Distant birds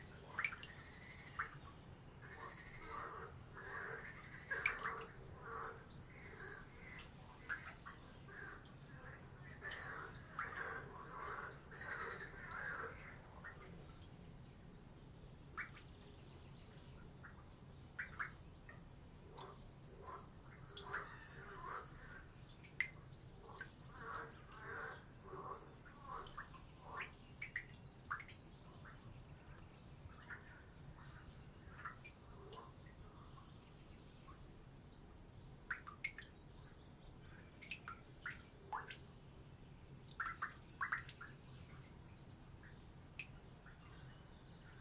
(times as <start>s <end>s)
0.0s 14.6s